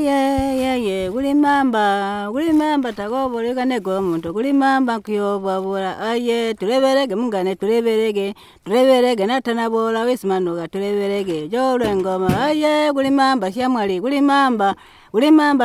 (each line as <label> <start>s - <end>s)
sings a traditional song 0.0s - 15.6s